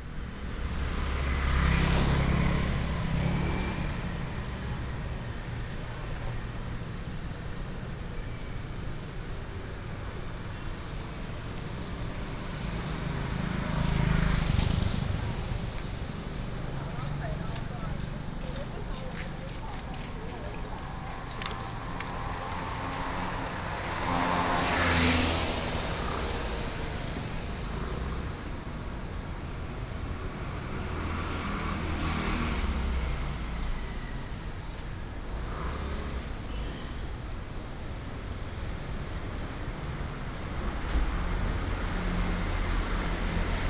Traffic Sound 0:00.0 - 0:43.6
Walking through the street 0:00.0 - 0:43.6

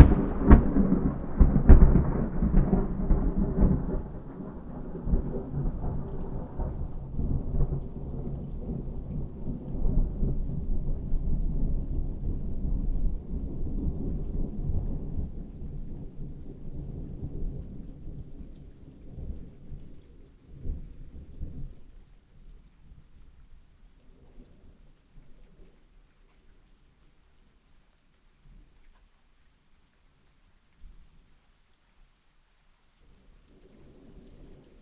Big Thunder Storm 0:00.0 - 0:17.7

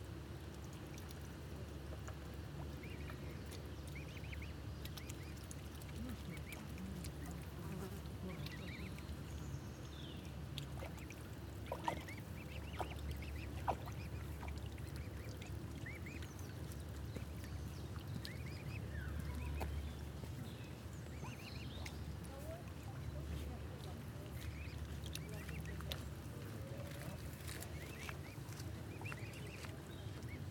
The public welcoming the arrival of six beautiful cygnets 0:08.1 - 0:10.4
The public welcoming the arrival of six beautiful cygnets 0:17.6 - 0:30.5

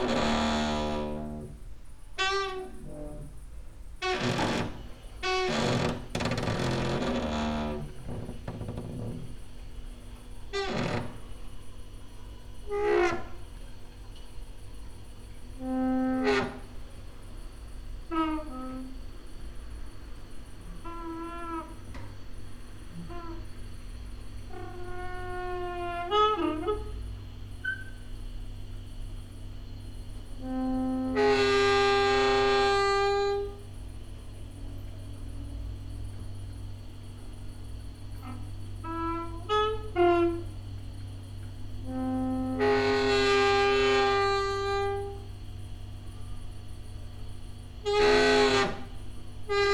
creaky lullaby 0:00.0 - 0:03.4
cricket 0:00.0 - 0:49.7
creaky lullaby 0:04.0 - 0:14.2
creaky lullaby 0:15.4 - 0:17.1
creaky lullaby 0:18.1 - 0:19.4
creaky lullaby 0:20.6 - 0:22.2
creaky lullaby 0:24.5 - 0:28.1
creaky lullaby 0:30.4 - 0:33.9
creaky lullaby 0:38.2 - 0:40.6
creaky lullaby 0:41.8 - 0:45.3

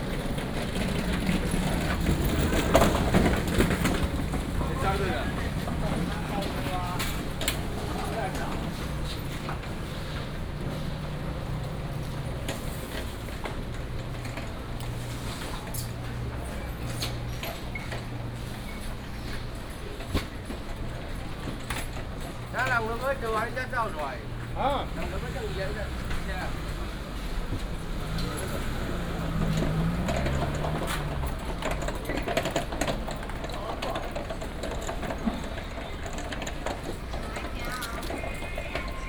Traffic sound 0:00.0 - 0:39.0

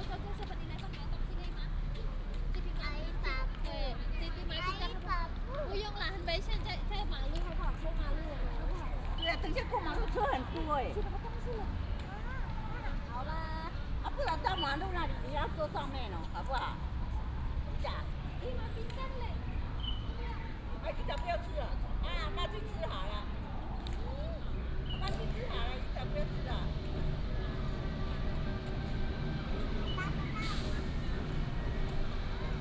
Traffic sound 0:00.0 - 0:32.6

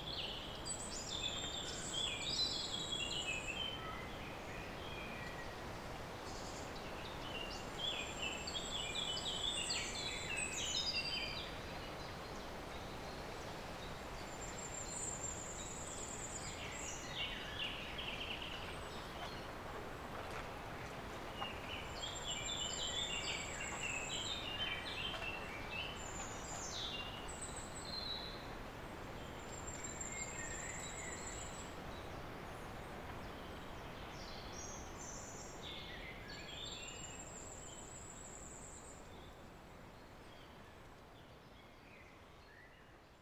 birds singing resound in the clearing of the valley 0:00.0 - 0:43.2

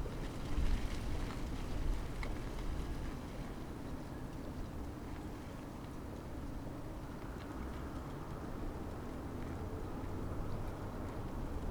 ivy leaves fluttering in the wind 0:00.0 - 0:05.3

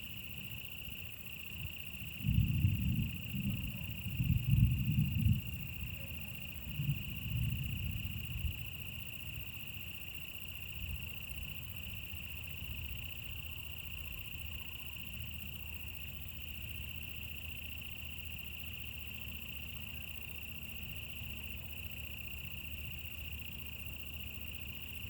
insects 0:00.0 - 0:25.0

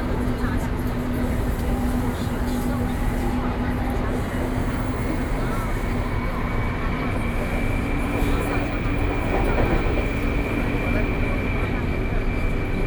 Take the MRT 0:00.0 - 0:12.8

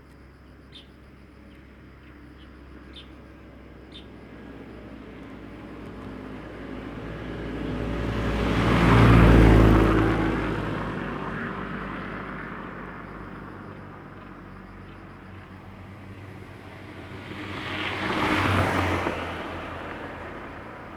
Birds singing 0:00.7 - 0:04.2
Traffic Sound 0:01.4 - 0:20.9

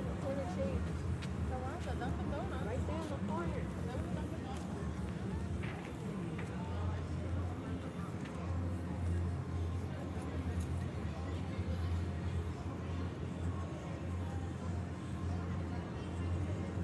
people walking 0:00.2 - 0:02.4

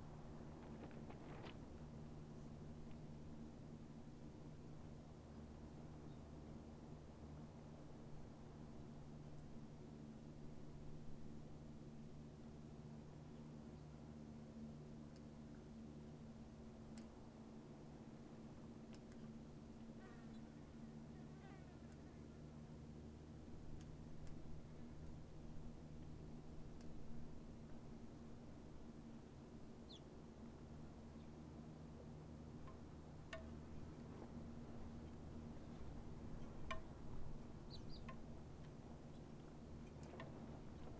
hummingbirds 0:00.0 - 0:40.9
flies 0:18.9 - 0:22.8

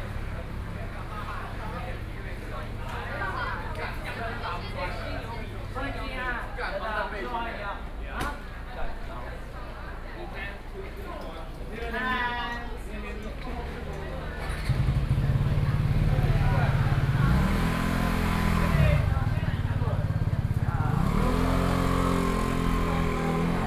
Students gather at noon meal streets 0:00.0 - 0:23.6

